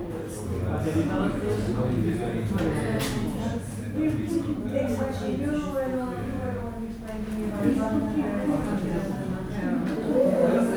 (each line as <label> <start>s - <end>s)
constant murmuring of subdued conversation 0.0s - 10.7s